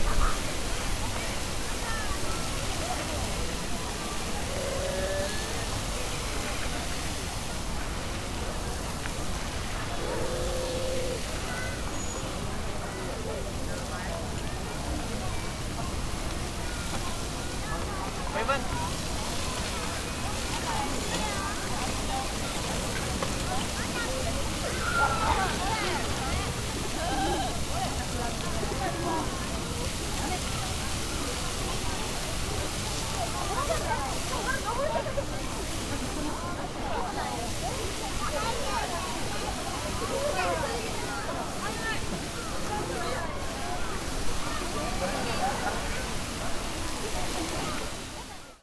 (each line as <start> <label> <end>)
0.0 a lot of visitors 48.6
0.0 fountain 48.6